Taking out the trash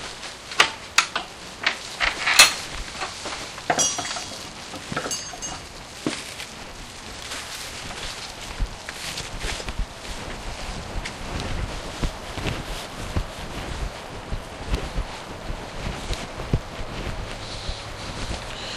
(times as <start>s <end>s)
0.0s 9.2s